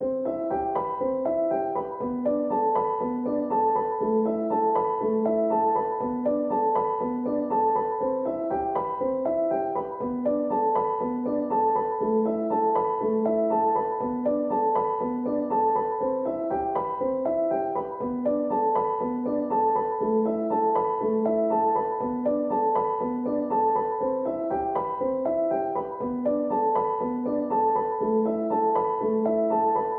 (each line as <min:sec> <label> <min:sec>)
0:00.0 piano 0:29.9